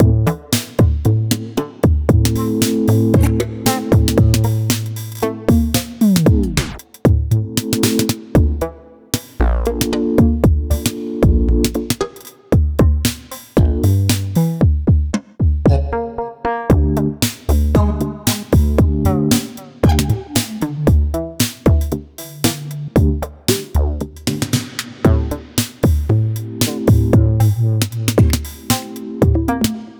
random beat 0.0 - 15.8
random beat 16.7 - 29.9

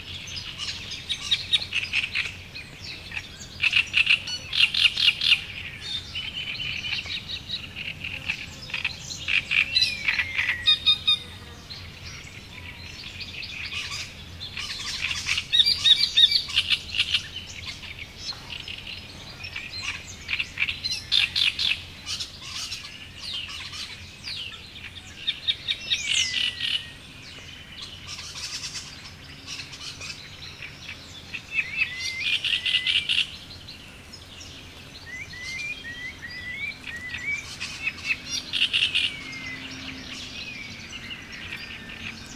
insects 0.0 - 42.3
various bird species singing 0.0 - 42.3
Great Reed Warbler calls 13.6 - 24.6
Great Reed Warbler calls 27.9 - 33.4
Great Reed Warbler calls 35.0 - 42.3

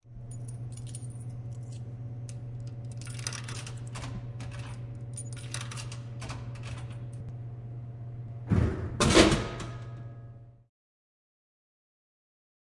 delivery from a vending machine 0.2 - 7.3
Coins 0.3 - 1.8
Coins 2.8 - 6.0

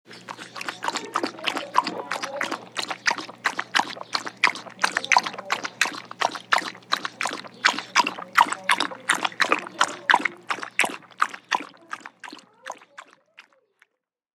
Dog drinking water 0.0 - 13.7

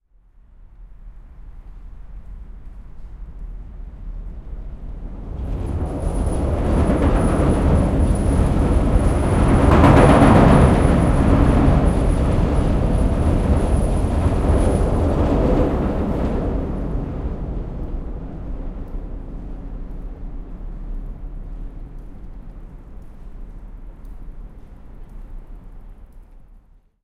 Train over bridge from below 3.6 - 20.9

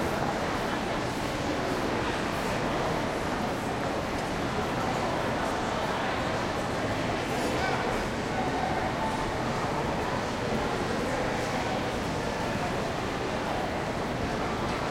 people 0.0 - 14.9

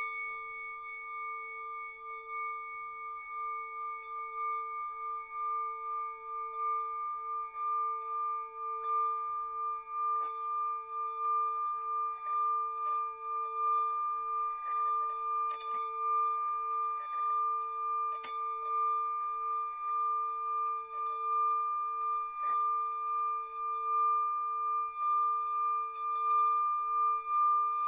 bowl 0.0 - 27.8

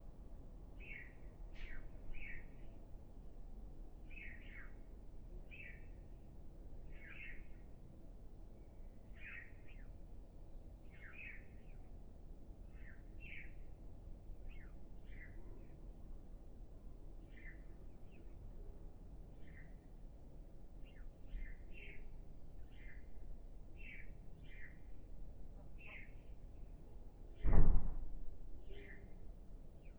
sparrow 23.8 - 24.9
sparrow 25.6 - 26.7
sparrow 28.6 - 29.9

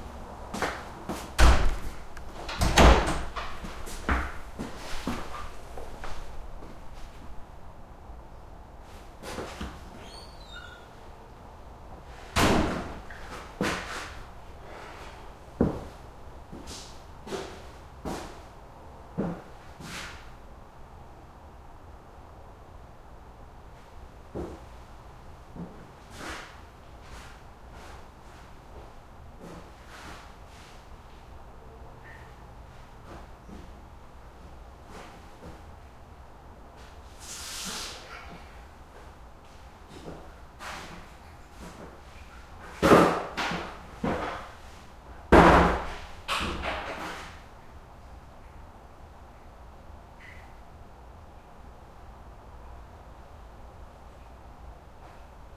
heavy distant highway 0.0 - 9.6
wood stall doors open close 1.4 - 4.4

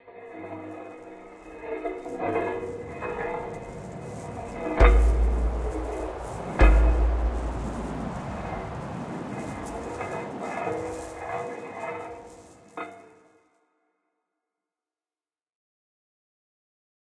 drone 0.7 - 12.2
small-perussion sounds, pitched very low 0.8 - 12.3

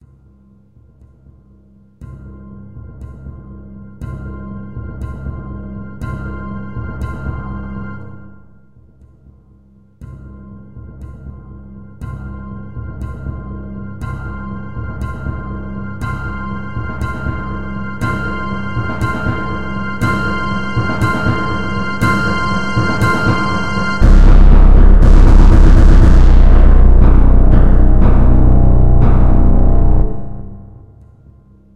Synth 14.6 - 30.9

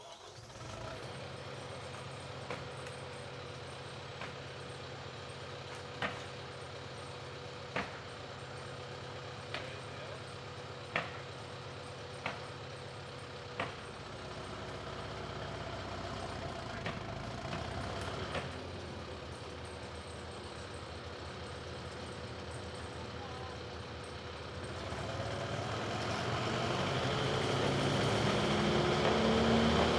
Hand-fed wood chipper start-up 0.0 - 3.0
Hand-fed wood chipper start-up 13.6 - 20.0
Hand-fed wood chipper start-up 24.5 - 29.9

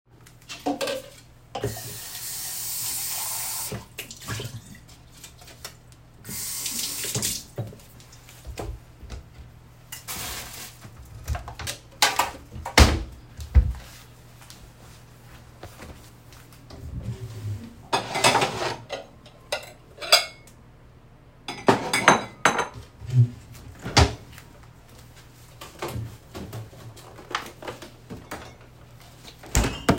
washing dishes 0.5 - 8.8
plates 0.5 - 2.0
washing dishes 16.8 - 20.4
plates 17.9 - 20.5

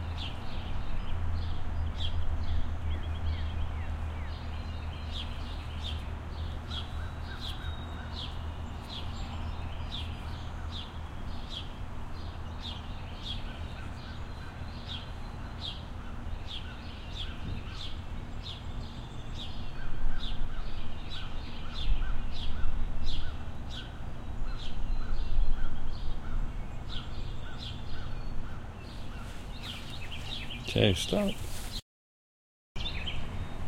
occasional bird chirp 0.0 - 31.8
several wind ruffles 28.8 - 31.8

